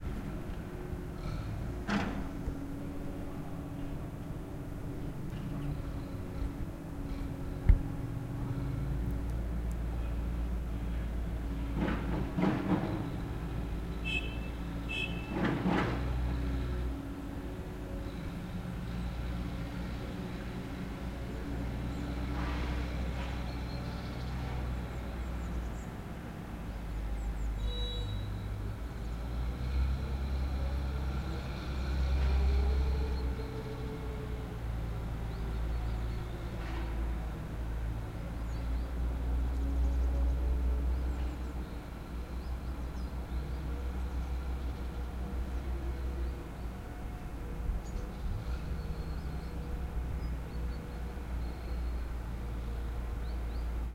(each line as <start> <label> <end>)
0.0 Construction site where a street is beeing fixed 53.9